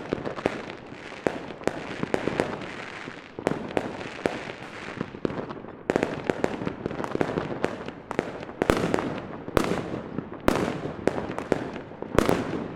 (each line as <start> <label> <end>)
0.0 fireworks going off around a street corner 12.7